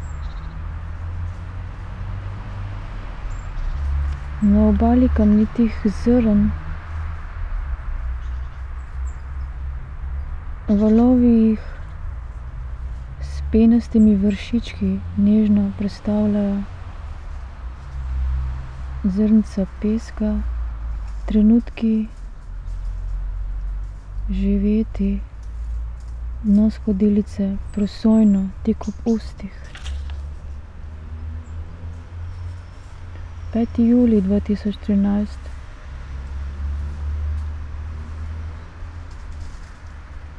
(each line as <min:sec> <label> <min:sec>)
0:04.2 reading poem 0:08.1
0:10.6 reading poem 0:36.0